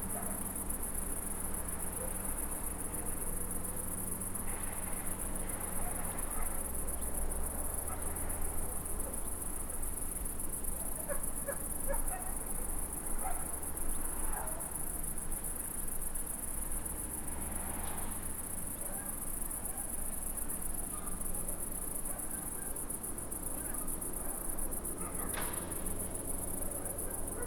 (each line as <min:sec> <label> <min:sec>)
0:00.0 Crickets 0:27.4
0:00.0 ordinary suburb noises from distance 0:27.4
0:25.0 dog barking 0:25.4
0:27.0 dog barking 0:27.4